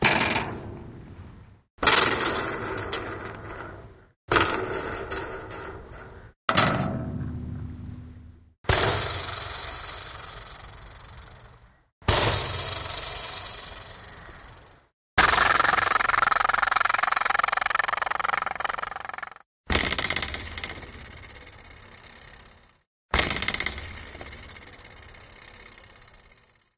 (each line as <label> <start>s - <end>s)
Metal wire on old country fence twanged 0.0s - 0.9s
Metal wire on old country fence twanged 1.8s - 8.0s
Metal wire on old country fence twanged 8.7s - 14.2s